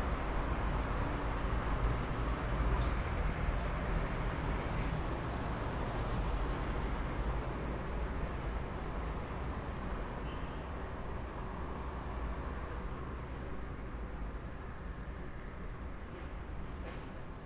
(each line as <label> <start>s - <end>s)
traffic 0.0s - 17.4s